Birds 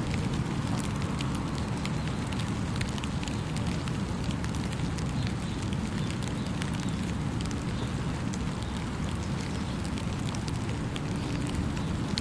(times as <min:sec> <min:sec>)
0:04.7 0:12.2